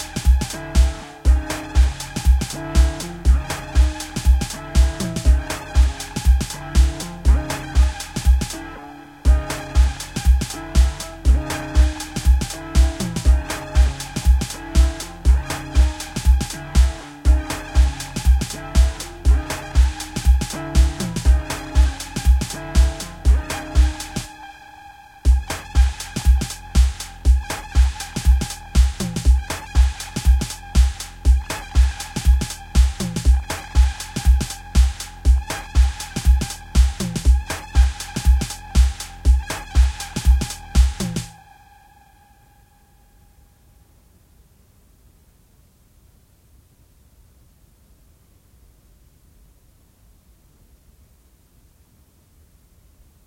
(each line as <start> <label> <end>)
0.0 House loop patterns combined 41.5